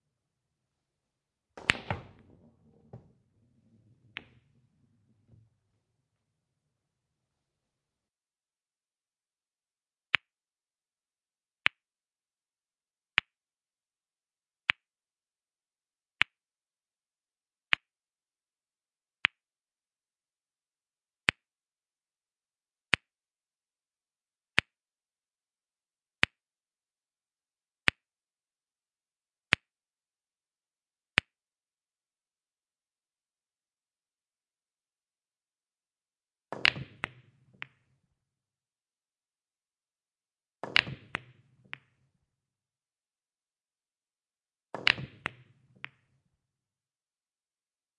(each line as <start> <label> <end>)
1.5 Billiard Ball percussive hits 5.8
36.5 Billiard Ball percussive hits 38.1
40.6 Billiard Ball percussive hits 42.2
44.7 Billiard Ball percussive hits 46.2